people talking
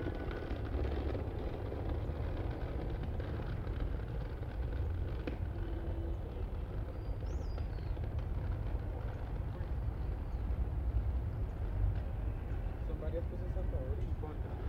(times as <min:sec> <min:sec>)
0:12.8 0:14.6